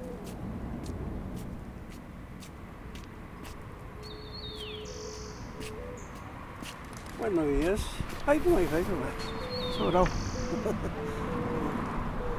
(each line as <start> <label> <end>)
7.2 man talking and waiting 10.8